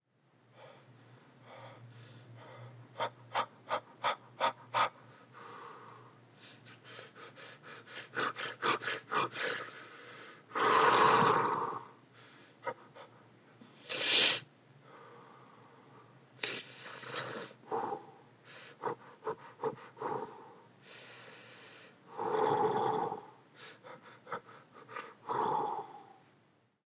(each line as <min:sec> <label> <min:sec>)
0:00.5 Breathing 0:03.1
0:04.8 Breathing 0:10.5
0:12.1 Breathing 0:14.0
0:14.8 Breathing 0:22.3
0:23.5 Breathing 0:26.2